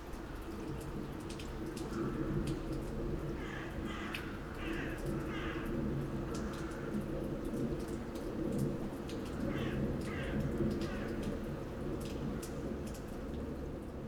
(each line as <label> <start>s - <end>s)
raindrops 0.0s - 14.0s
lots of crows gather in the morning on the roofs 1.8s - 8.2s
lots of crows gather in the morning on the roofs 9.0s - 11.7s